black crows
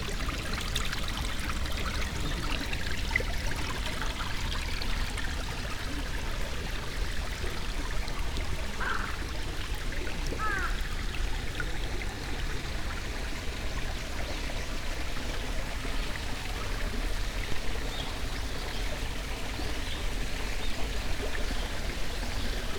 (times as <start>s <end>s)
8.8s 9.2s, 10.4s 10.8s